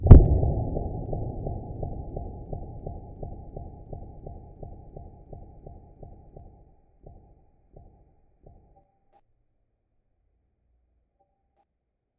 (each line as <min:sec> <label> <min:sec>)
0:00.0 far explosion 0:06.5
0:00.0 echoed thuds 0:08.8